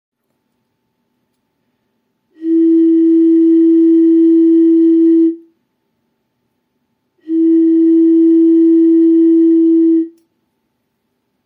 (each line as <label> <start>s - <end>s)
notes produced by blowing on a half-empty bottle 2.3s - 5.5s
notes produced by blowing on a half-empty bottle 7.2s - 10.2s